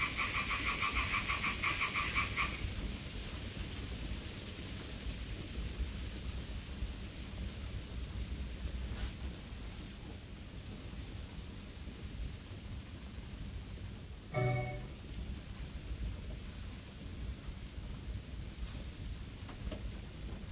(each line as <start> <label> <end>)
0.0 frog 2.6
0.0 fire 14.4
0.0 little white noise 20.5
0.0 soft night wind 20.5
15.0 fire 20.5